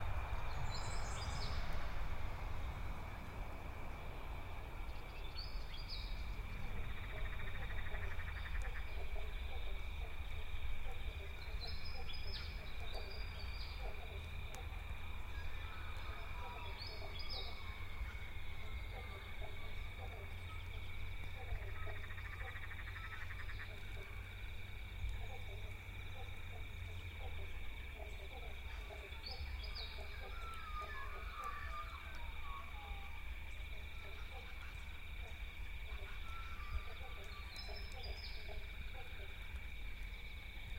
0.0s birds 40.7s
0.0s distant traffic 40.7s
0.0s frogs 40.7s
0.0s wind noises 40.7s

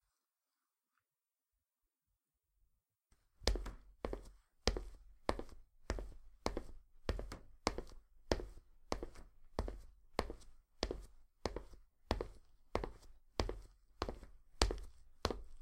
3.5s Walking in trainers on hard surface 15.6s

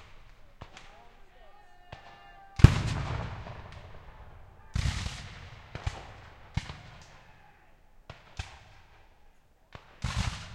0.0s Black powder rifles 7.4s
0.0s cavalry charge 9.2s
0.0s cannons 10.5s
1.4s cries 2.7s
8.0s Black powder rifles 10.5s

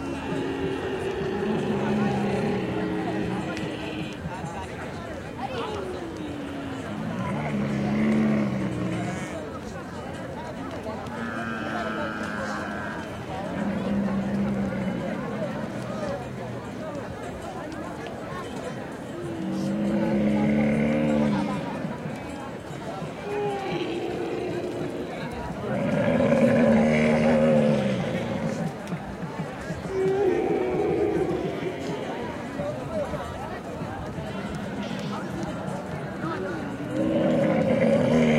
0.0s camels 38.3s
0.0s people 38.3s

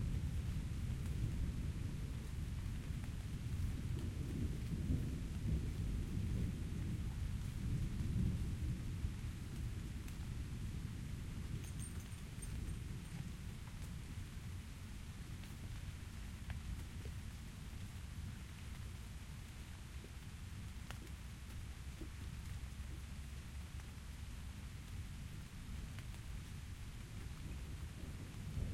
0.0s rain 28.7s

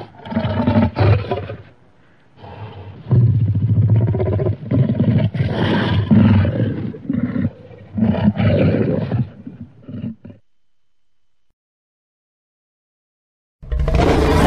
2.4s Dinosaur Roars and Growls 10.4s
13.6s Dinosaur Roars and Growls 14.4s

